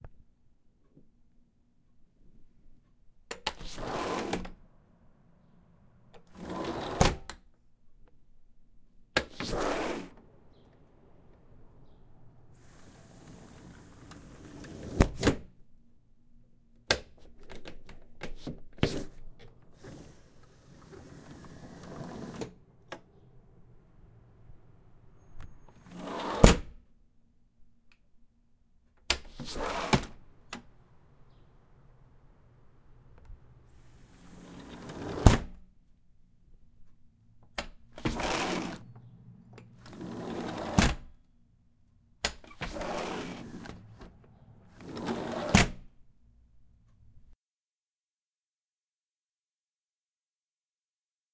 sliding window opening and closing 0:03.3 - 0:04.6
sliding window opening and closing 0:06.1 - 0:07.4
sliding window opening and closing 0:09.2 - 0:15.5
sliding window opening and closing 0:16.9 - 0:26.8
sliding window opening and closing 0:29.1 - 0:31.4
sliding window opening and closing 0:33.1 - 0:35.6
sliding window opening and closing 0:37.5 - 0:41.2
sliding window opening and closing 0:42.2 - 0:45.9

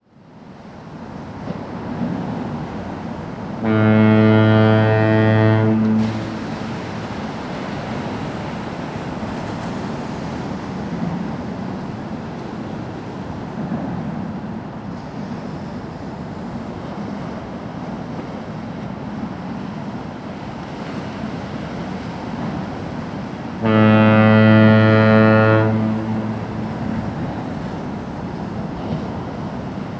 waves are crashing along the shore 0:00.0 - 0:29.9
ships are blowing horns 0:03.6 - 0:08.6
fog horn blowing 0:03.6 - 0:07.0
ships are blowing horns 0:23.5 - 0:29.2
fog horn blowing 0:23.6 - 0:27.8

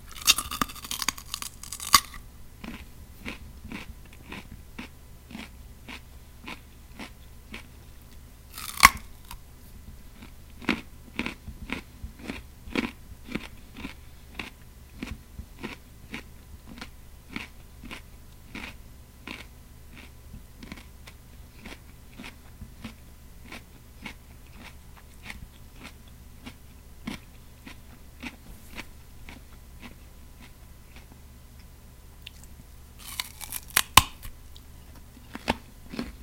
bite off a piece of carrot 0:00.0 - 0:07.7
eats a delicious, sweet and crisp carrot 0:00.0 - 0:09.4
bite off a piece of carrot 0:08.5 - 0:09.4
eats a delicious, sweet and crisp carrot 0:10.2 - 0:36.2
bite off a piece of carrot 0:32.2 - 0:34.7

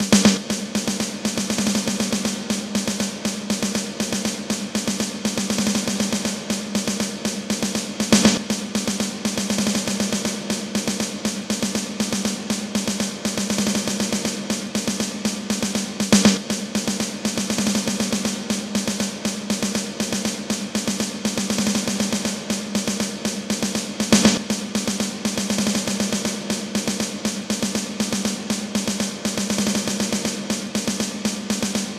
beat 0:00.0 - 0:31.9

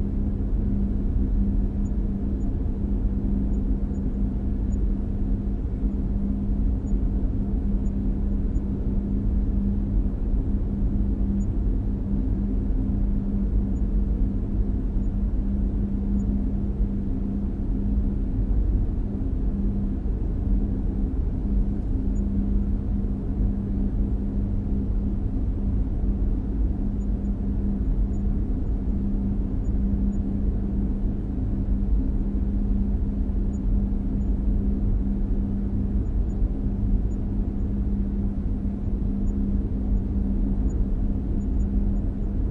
heavy ventilation10 0:00.0 - 0:42.5

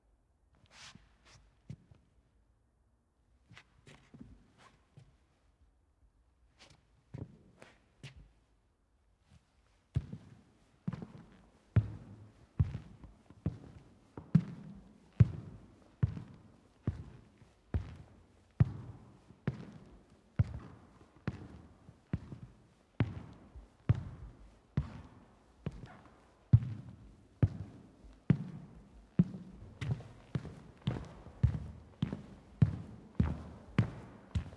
Steps Indoor medium soft Shoe Sole accompanying wooden Floor 0:00.5 - 0:02.4
Steps Indoor medium soft Shoe Sole accompanying wooden Floor 0:03.3 - 0:34.5

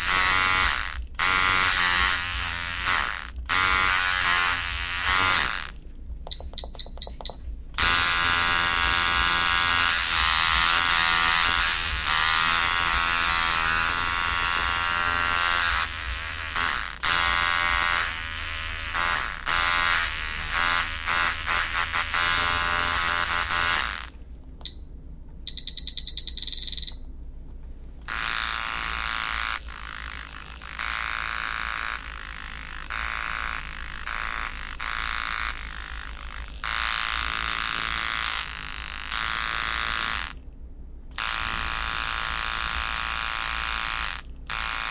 tattoo machines at different settings and voltages 0:00.0 - 0:24.1
tattoo machines at different settings and voltages 0:28.1 - 0:40.4
tattoo machines at different settings and voltages 0:41.1 - 0:44.9

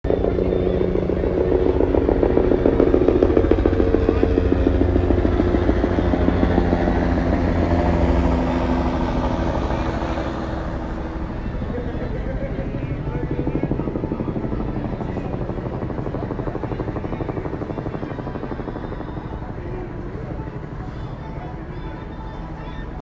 Helicopter Flyby 0:00.0 - 0:23.0
city noise 0:00.0 - 0:23.0

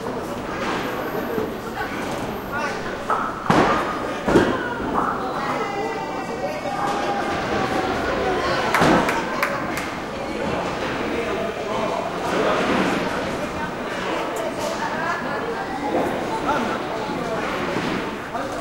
medium crowd 0:00.0 - 0:18.6

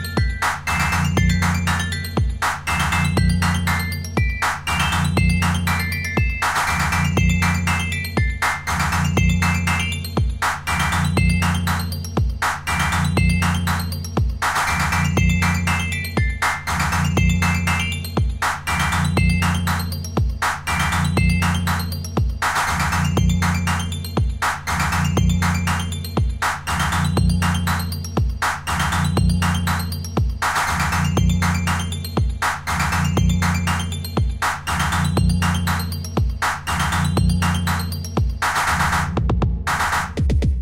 music 0:00.0 - 0:40.6

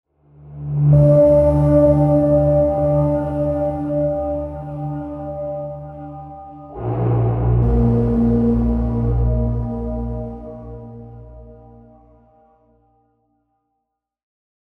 reverberating, muffled mix of piano and strings 0:00.9 - 0:12.2

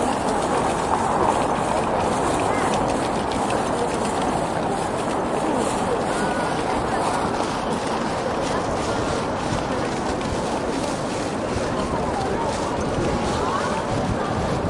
Walking Around 0:00.0 - 0:14.6
people 0:00.0 - 0:14.6

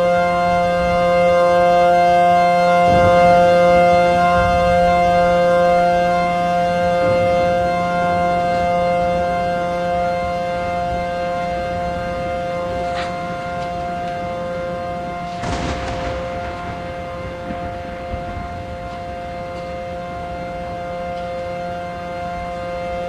Siren 0:00.0 - 0:23.0
Thunder 0:02.6 - 0:08.8
Thunder 0:11.6 - 0:21.5

